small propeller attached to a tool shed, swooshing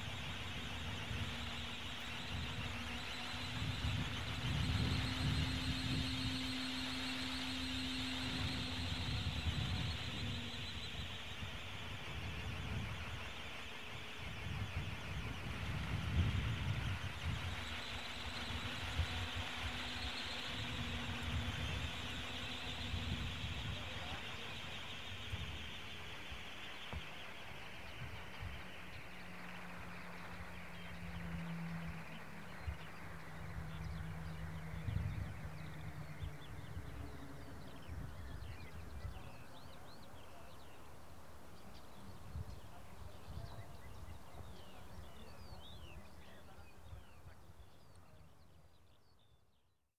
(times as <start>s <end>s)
0.0s 12.6s, 15.5s 25.9s